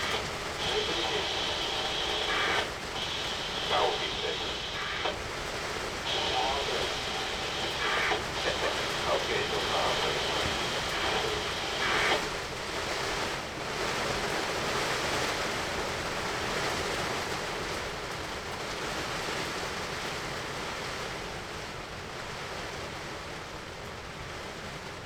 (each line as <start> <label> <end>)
0.0 radio traffic on channel 73 14.2
0.0 rain hits the tarp 25.0